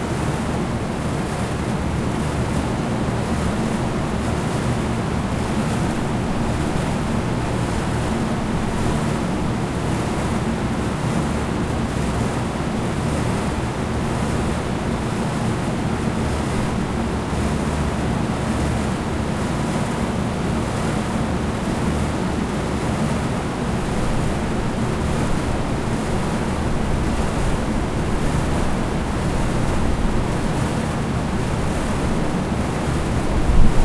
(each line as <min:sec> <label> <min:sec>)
0:00.0 industrial air-conditioning fans cooling a warehouse building 0:33.8